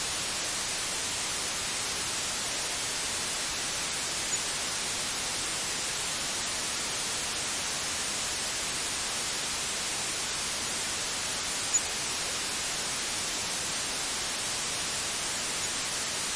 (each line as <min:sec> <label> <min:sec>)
0:00.0 velvet white noise 0:16.3